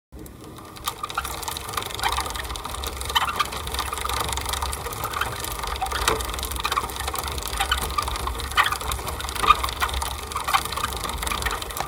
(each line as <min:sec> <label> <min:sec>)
0:00.2 pedaling a rusty old bike 0:11.8